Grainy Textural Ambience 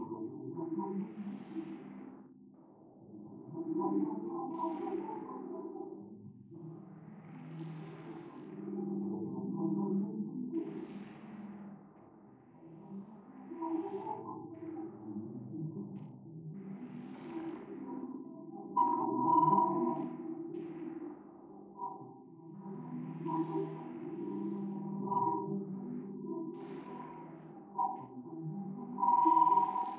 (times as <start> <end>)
17.4 29.9